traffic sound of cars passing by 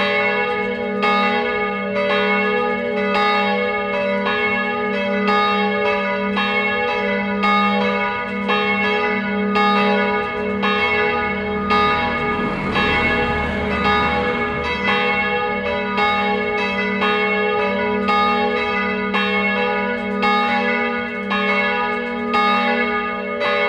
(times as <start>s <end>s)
10.1s 16.8s